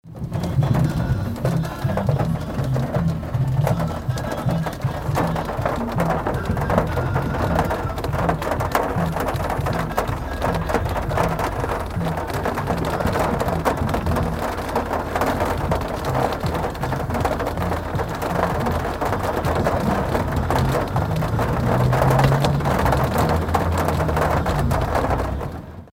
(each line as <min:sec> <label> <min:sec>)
0:00.0 heavy rain drops 0:25.9
0:00.1 music inside the car 0:25.8